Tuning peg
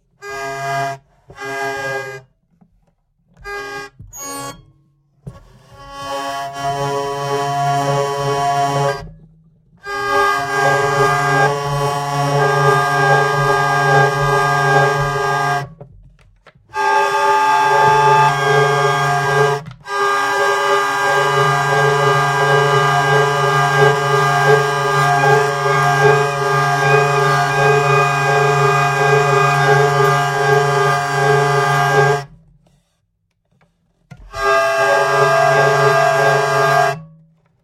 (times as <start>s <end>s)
9.9s 15.7s, 16.8s 32.4s, 34.3s 37.1s